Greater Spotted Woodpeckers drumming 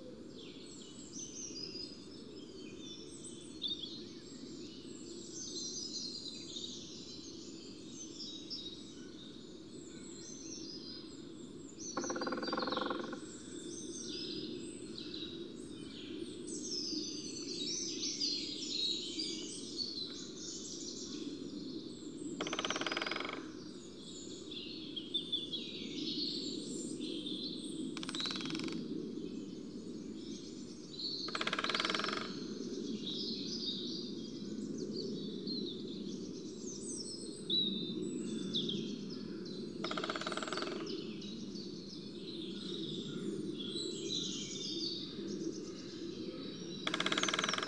11.9s 13.2s, 22.4s 23.6s, 31.3s 32.5s, 39.8s 41.0s, 46.8s 47.6s

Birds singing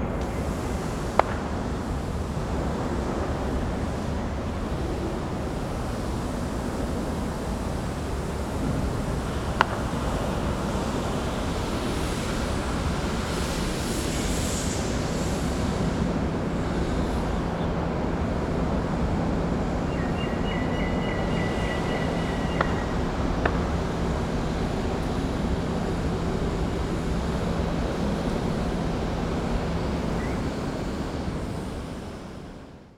16.6s 31.0s

